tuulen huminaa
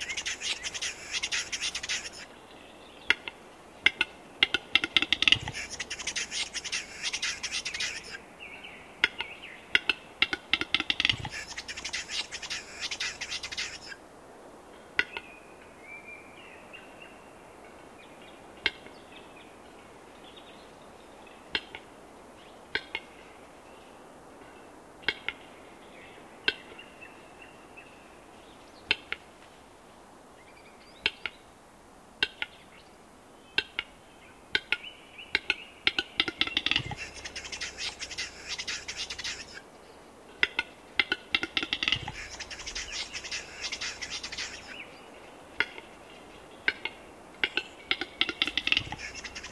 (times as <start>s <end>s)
0.0s 2.4s, 3.9s 8.2s, 9.1s 14.0s, 35.4s 39.6s, 40.4s 49.5s